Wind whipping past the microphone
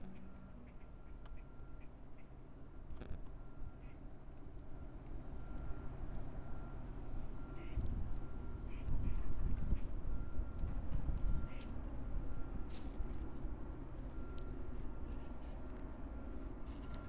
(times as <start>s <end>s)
7.8s 12.3s